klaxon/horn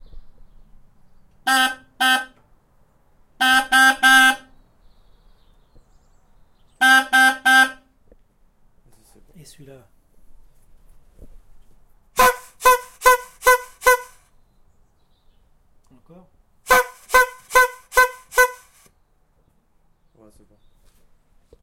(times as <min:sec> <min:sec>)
0:01.5 0:02.4, 0:03.4 0:04.5, 0:06.8 0:07.8, 0:12.2 0:14.2, 0:16.7 0:18.9